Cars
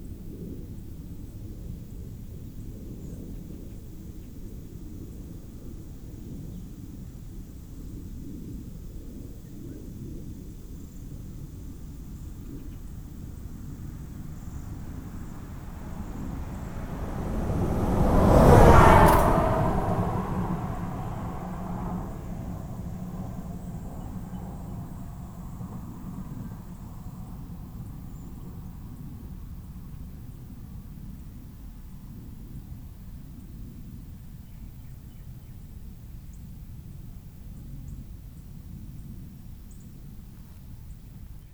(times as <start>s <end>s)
13.8s 28.4s